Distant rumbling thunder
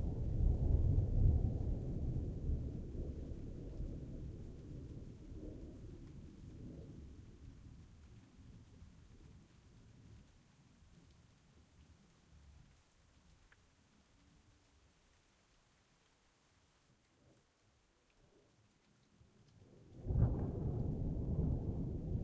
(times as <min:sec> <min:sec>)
0:00.0 0:07.2, 0:20.0 0:22.2